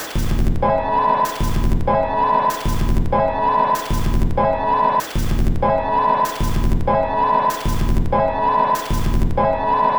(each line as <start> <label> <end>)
0.0 Drum Loop 0.7
1.3 Drum Loop 3.2
3.8 Drum Loop 4.4
5.0 Drum Loop 5.7
6.3 Drum Loop 8.2
8.8 Drum Loop 9.4